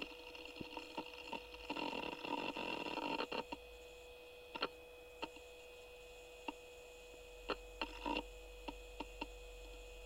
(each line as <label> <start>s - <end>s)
booting g3 ibook 7.5s - 10.0s